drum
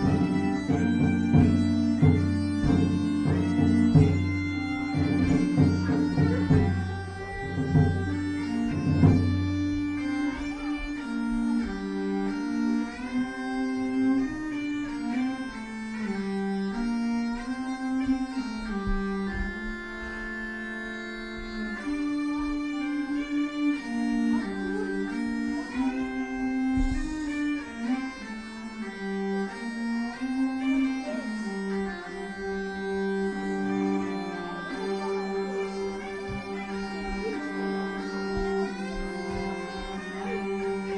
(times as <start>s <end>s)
0.0s 8.2s